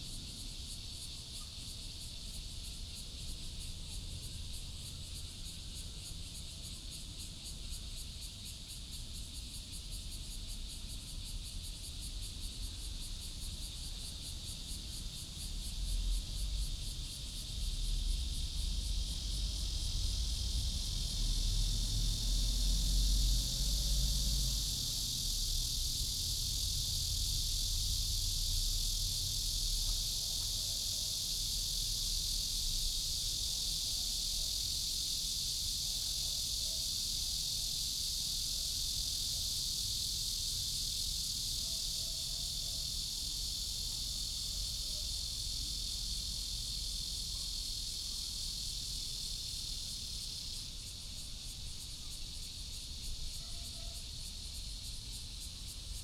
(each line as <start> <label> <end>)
0.0 Cicadas 56.0